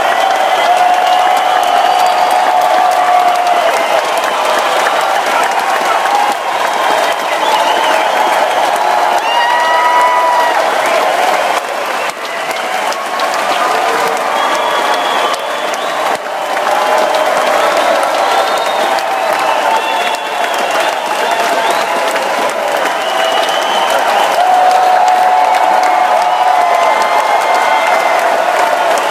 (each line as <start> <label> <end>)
0.0 Large crowd applause 29.1
0.0 loud cheering crowd 29.1
0.0 yelling 29.1